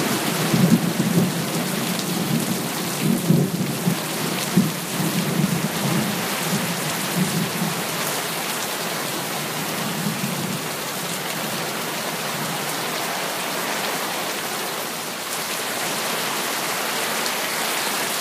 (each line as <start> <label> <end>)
0.0 heavy rain 18.2